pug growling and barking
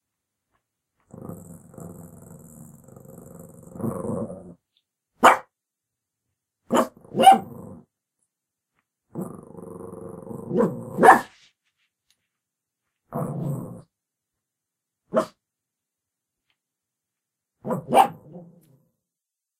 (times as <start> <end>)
6.7 7.9, 9.1 11.3, 13.1 13.8, 17.6 18.7